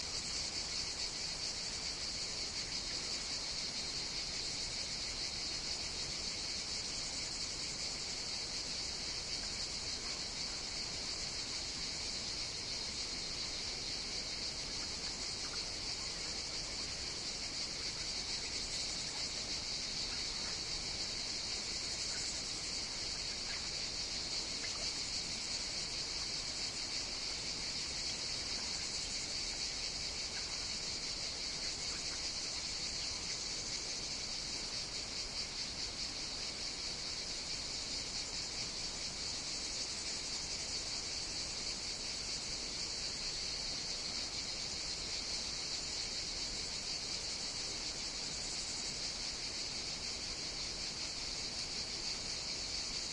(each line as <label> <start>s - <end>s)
Cicadas 0.0s - 53.1s